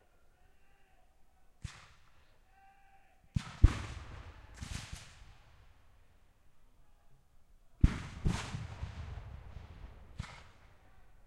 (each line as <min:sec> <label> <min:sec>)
0:03.4 Black powder rifles 0:05.4
0:07.8 Black powder rifles 0:10.8